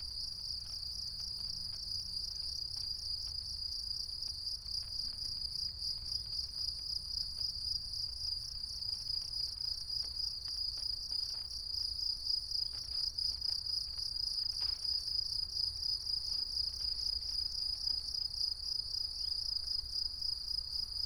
crickets 0:00.1 - 0:21.0

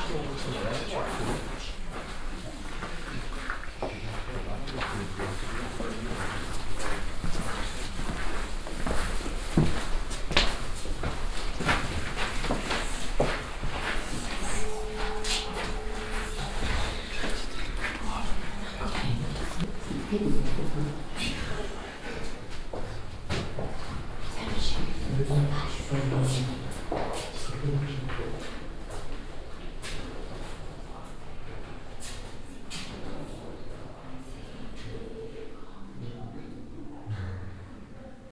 other visitors 0:12.2 - 0:23.3

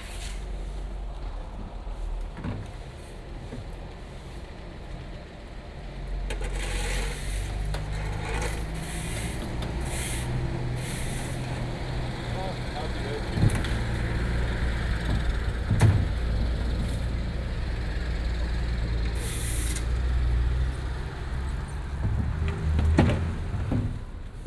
cleanup after market 0:00.0 - 0:24.4

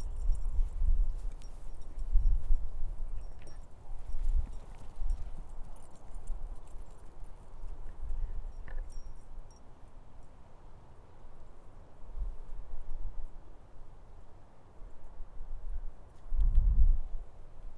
Walking the dog 0:00.0 - 0:10.3

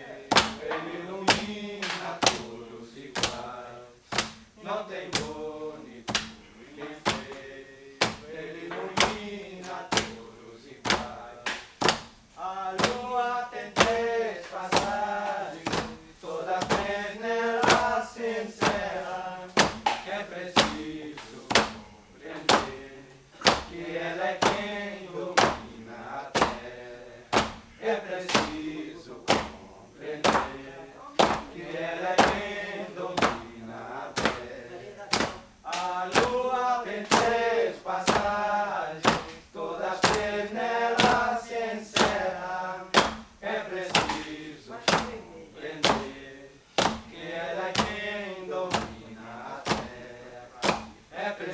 hammering the vine 0:06.1 - 0:09.3
hammering the vine 0:10.9 - 0:12.2
hammering the vine 0:12.8 - 0:13.2
hammering the vine 0:14.7 - 0:19.0
hammering the vine 0:19.6 - 0:21.9
hammering the vine 0:23.4 - 0:24.7
hammering the vine 0:25.4 - 0:25.8
hammering the vine 0:26.4 - 0:27.7
hammering the vine 0:28.3 - 0:29.6
hammering the vine 0:30.2 - 0:30.6
hammering the vine 0:33.2 - 0:33.5
hammering the vine 0:34.2 - 0:34.5
hammering the vine 0:35.1 - 0:38.4
hammering the vine 0:39.0 - 0:39.4
hammering the vine 0:41.0 - 0:41.3
hammering the vine 0:42.0 - 0:42.2
hammering the vine 0:42.9 - 0:43.3
hammering the vine 0:43.9 - 0:45.2
hammering the vine 0:45.8 - 0:46.2
hammering the vine 0:46.8 - 0:47.1
hammering the vine 0:47.7 - 0:48.1
hammering the vine 0:49.6 - 0:50.0

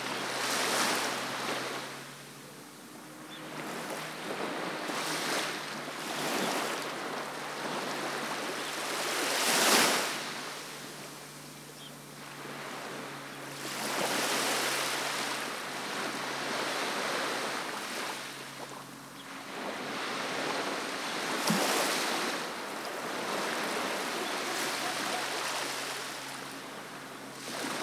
Waves lapping Segura Beach 0:00.0 - 0:27.8

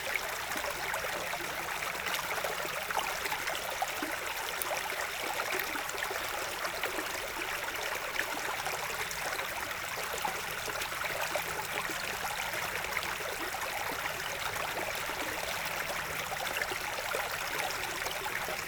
small stream 0:00.0 - 0:18.6

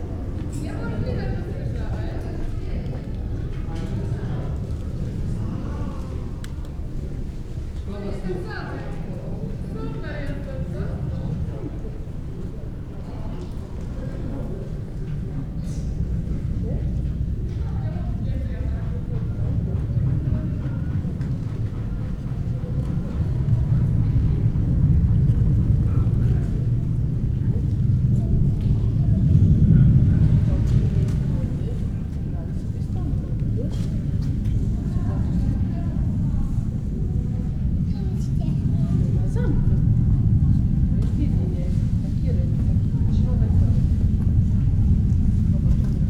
plane 0:00.0 - 0:46.0

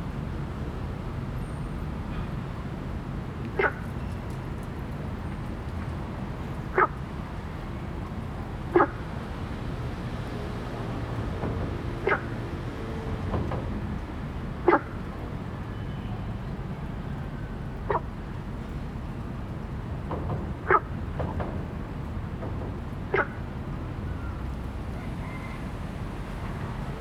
Traffic Sound 0:00.0 - 0:27.0
Frog sound 0:03.6 - 0:03.8
Frog sound 0:06.8 - 0:07.0
Frog sound 0:08.8 - 0:09.0
Frog sound 0:12.0 - 0:12.3
Frog sound 0:23.1 - 0:23.4

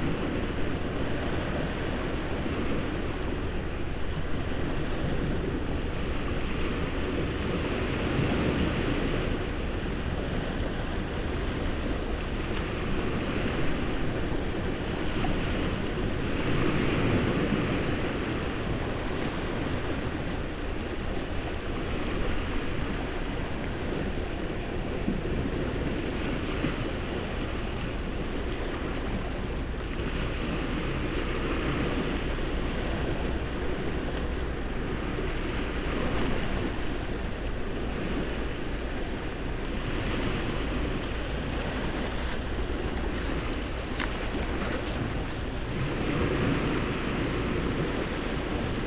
sea waves 0:00.0 - 0:48.8
crustaceans 0:40.2 - 0:46.5
book leaves 0:41.3 - 0:45.9

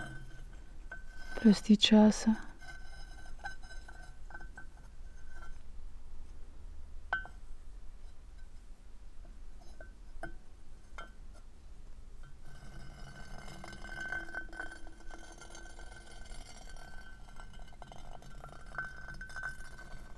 stone and iron 0:00.0 - 0:05.6
spoken words 0:01.4 - 0:02.5
stone and iron 0:12.2 - 0:20.1

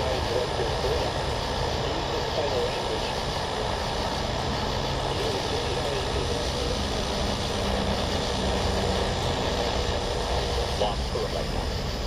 cicadas 0:00.0 - 0:12.0
clock radio 0:00.0 - 0:12.0
traffic 0:00.0 - 0:12.0

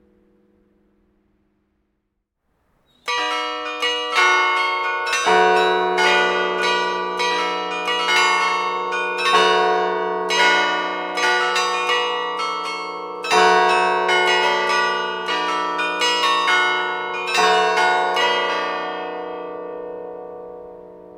Carillon 0:02.9 - 0:21.1

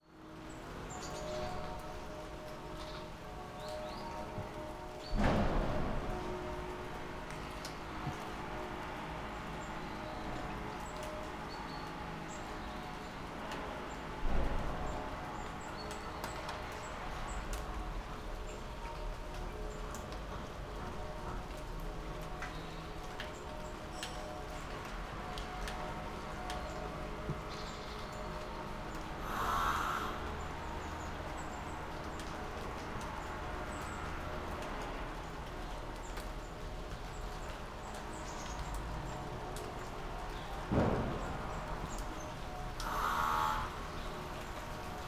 light rain 0:00.0 - 0:45.0
distant church bells 0:00.0 - 0:45.0

